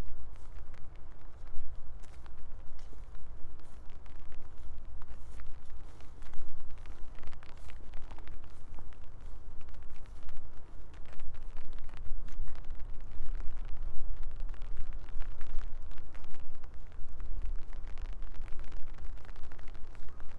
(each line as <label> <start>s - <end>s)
soft rain, umbrella 0.0s - 20.3s